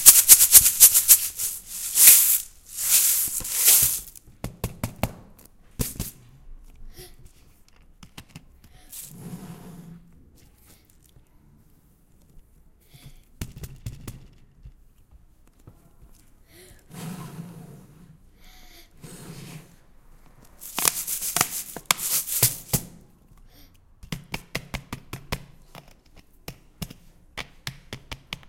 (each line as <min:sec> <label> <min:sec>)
0:00.0 Plastic bottle with rice 0:04.2
0:20.6 Plastic bottle with rice 0:22.9